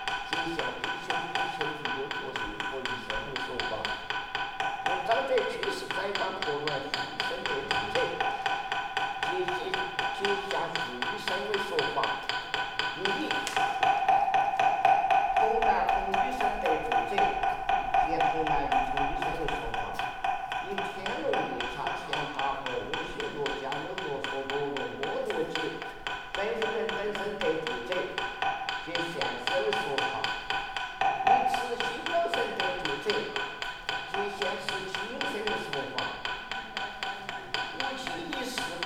0.0s monk is praying 14.1s
15.3s monk is praying 30.4s
31.0s monk is praying 36.3s
36.9s monk is praying 38.8s

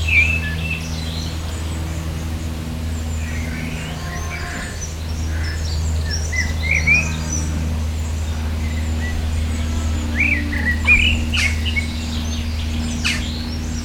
0.0s Great tit 13.8s
0.0s House Sparrows 13.8s
0.0s planes 13.8s

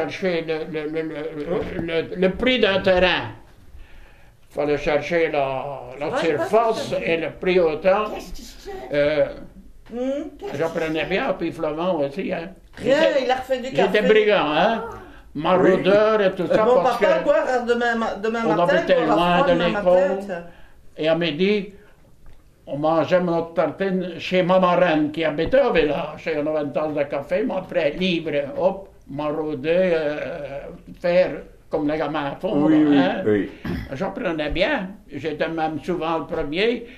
0.0s old man testimony 9.7s
10.4s old man testimony 22.0s
22.6s old man testimony 36.9s

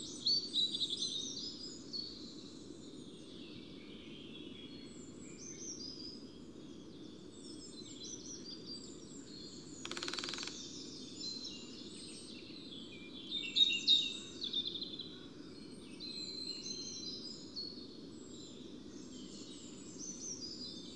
9.7s Greater Spotted Woodpeckers drumming 10.8s

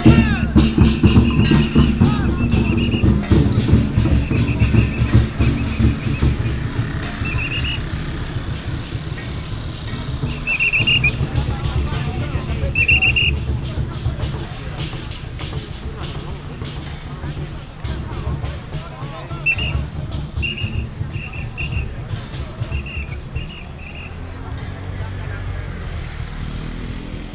0.0s Whistle sound 8.2s
0.0s A lot of people 27.3s
0.0s Gongs and drums 27.3s
0.0s Traffic sound 27.3s
10.3s Whistle sound 11.4s
12.7s Whistle sound 13.4s
19.4s Whistle sound 22.0s
22.7s Whistle sound 24.3s

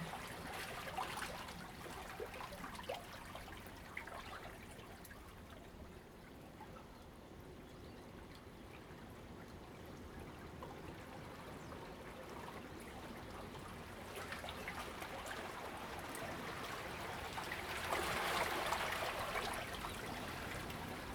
8.2s tide 21.1s

